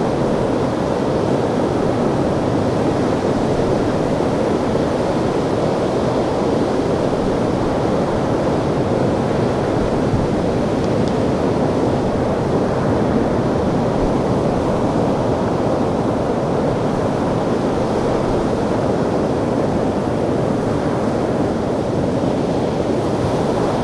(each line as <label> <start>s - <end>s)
waves 0.0s - 23.8s